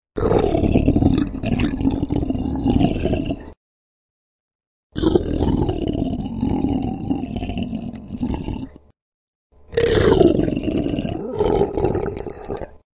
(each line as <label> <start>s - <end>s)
Big monster snarls 0.2s - 3.6s
Big monster snarls 5.0s - 8.9s
Big monster snarls 9.7s - 12.8s